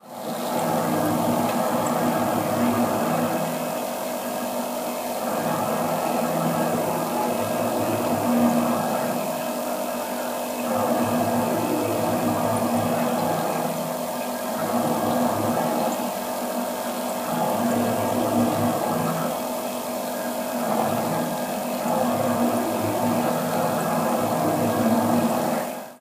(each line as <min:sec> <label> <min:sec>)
0:00.0 bar fridge 0:26.0